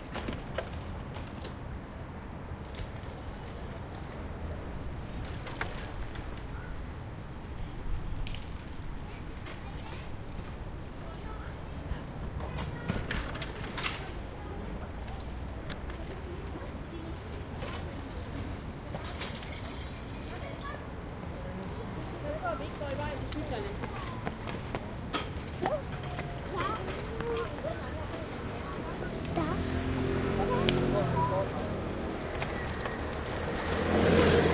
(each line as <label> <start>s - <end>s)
bikes 0.0s - 34.5s
medium to heavy traffic 0.0s - 34.5s
scooters 2.5s - 6.8s
people 7.5s - 33.7s
scooters 22.3s - 34.5s